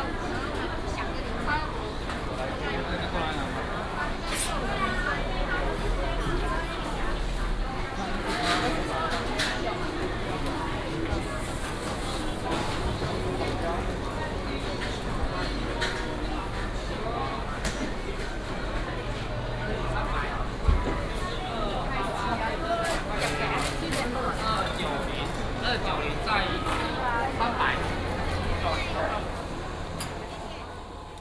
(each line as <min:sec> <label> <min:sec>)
0:00.0 Walking in the traditional market 0:31.2
0:23.8 Traffic sound 0:31.2